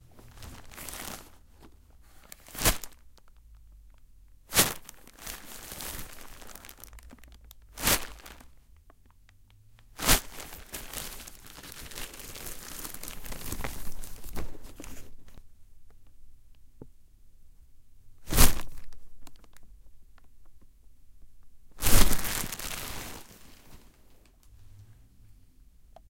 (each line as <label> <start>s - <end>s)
Percussive scrunching of a plastic bag 0.3s - 1.4s
Percussive scrunching of a plastic bag 2.3s - 3.1s
Percussive scrunching of a plastic bag 4.5s - 8.6s
Percussive scrunching of a plastic bag 9.9s - 15.4s
Percussive scrunching of a plastic bag 18.2s - 19.6s
Percussive scrunching of a plastic bag 21.8s - 24.0s